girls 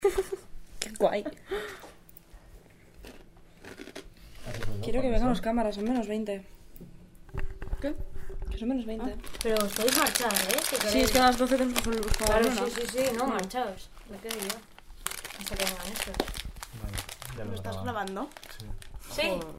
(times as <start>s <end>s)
9.0s 14.8s